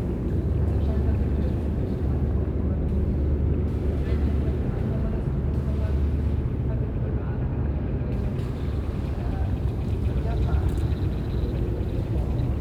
0.0s voices of visitors 12.6s

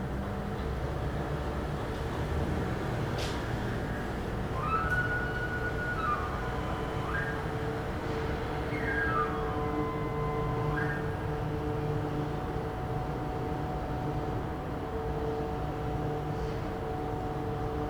4.6s whistle 11.2s

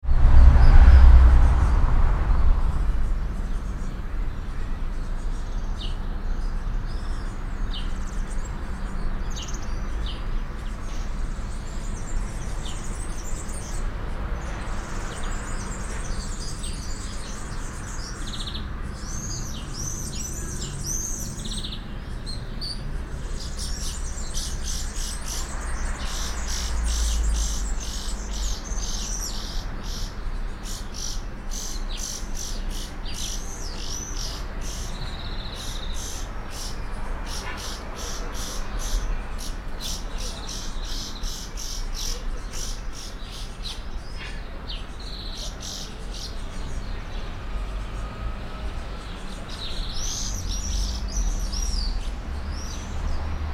0.0s cars 53.5s

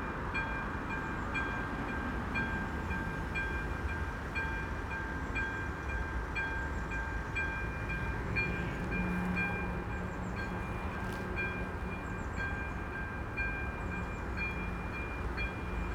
0.0s passing train 15.9s
7.6s traffic 15.9s

